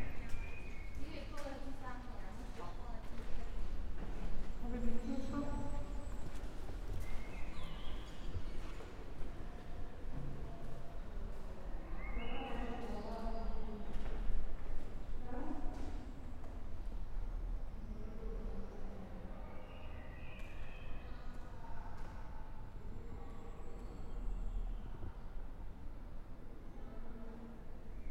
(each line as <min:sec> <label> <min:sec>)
0:01.0 people speaking 0:03.6
0:06.9 birds 0:09.1